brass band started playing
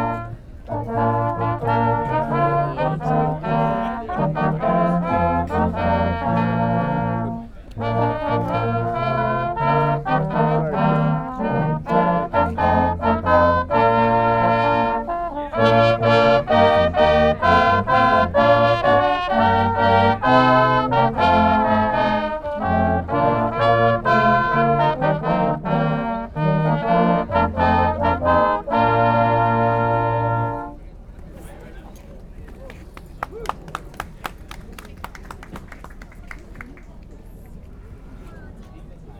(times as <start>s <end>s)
0.0s 30.8s